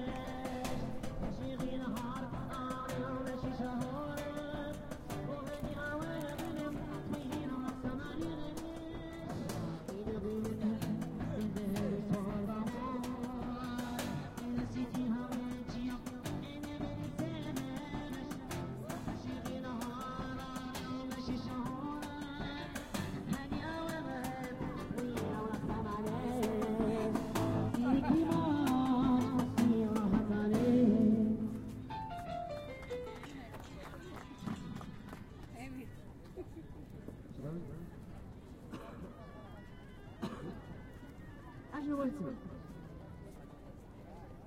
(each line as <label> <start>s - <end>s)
musicians 0.0s - 34.3s
swarmed with people 0.0s - 44.4s